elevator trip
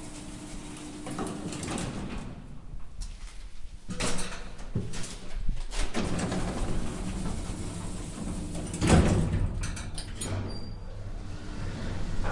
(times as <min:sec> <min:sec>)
0:06.0 0:12.3